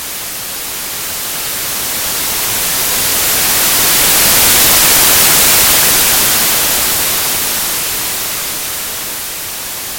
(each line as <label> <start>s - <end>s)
white noise 0.0s - 9.9s